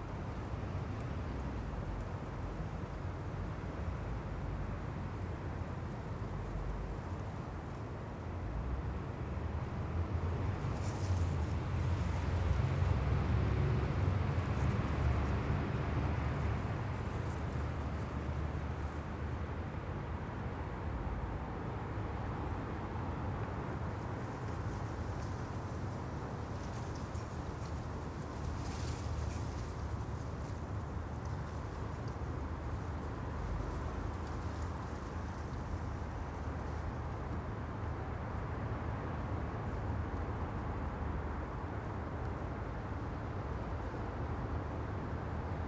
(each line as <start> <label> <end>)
0.0 East wind 45.6
0.0 traffic noise 45.6